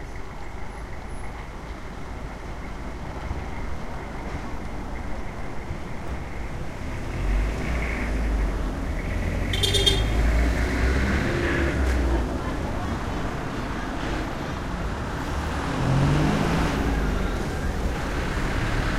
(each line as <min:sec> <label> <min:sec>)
0:00.0 cars passing on cobblestone 0:18.9
0:11.0 people chatting as they pass 0:18.9